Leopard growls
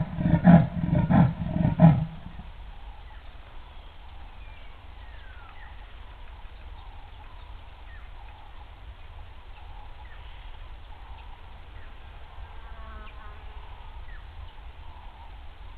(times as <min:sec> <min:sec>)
0:00.0 0:02.5